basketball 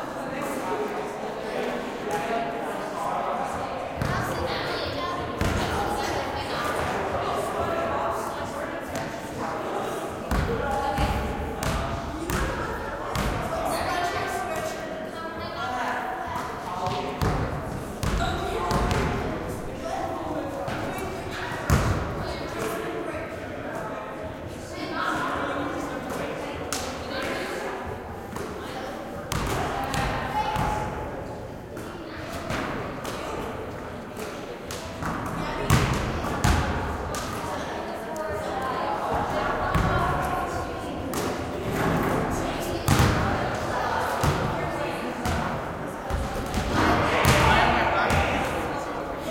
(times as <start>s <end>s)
4.0s 4.3s, 5.4s 5.8s, 10.3s 13.6s, 16.8s 19.3s, 21.7s 22.2s, 29.3s 31.0s, 34.7s 37.4s, 39.1s 40.1s, 42.8s 43.3s, 44.2s 44.5s, 45.2s 45.5s, 46.1s 48.6s